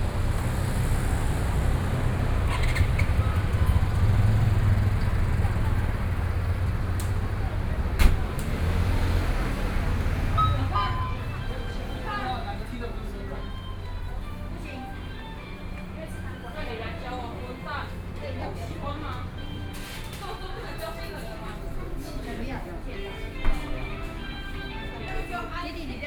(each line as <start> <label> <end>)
0.0 Traffic Sound 26.0
0.0 Various shops sound 26.0
0.0 walking on the Road 26.0